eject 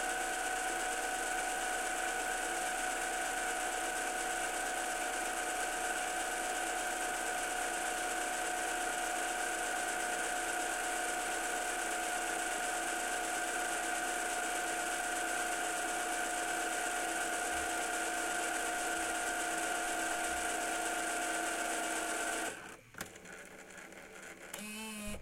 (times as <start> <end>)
24.5 25.2